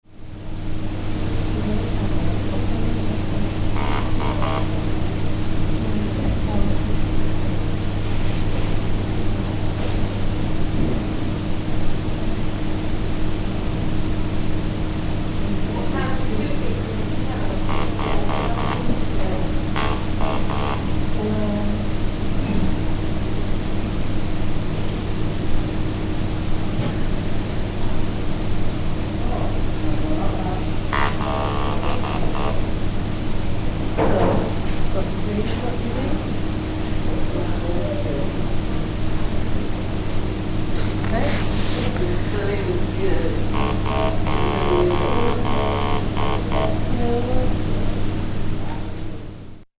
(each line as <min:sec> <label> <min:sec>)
0:01.5 Electrolarynx speech 0:05.1
0:15.5 Electrolarynx speech 0:22.6
0:29.2 Electrolarynx speech 0:32.8
0:40.9 Electrolarynx speech 0:47.8